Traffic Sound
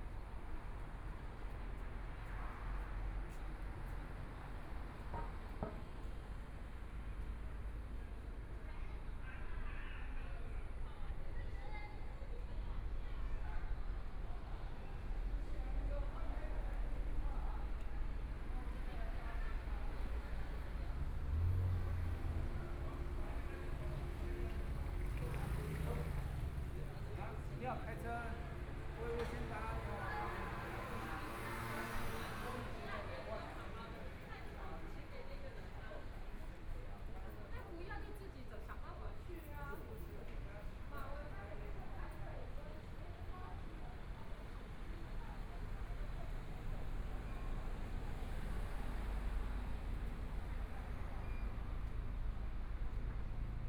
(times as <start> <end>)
15.0 37.6, 39.3 53.6